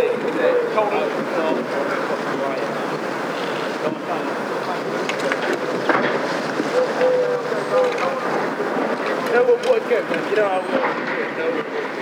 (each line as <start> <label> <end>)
0.0 Soldiers Riot Training 12.0